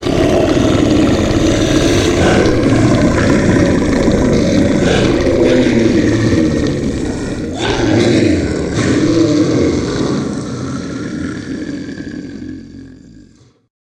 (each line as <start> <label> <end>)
0.0 growl 13.7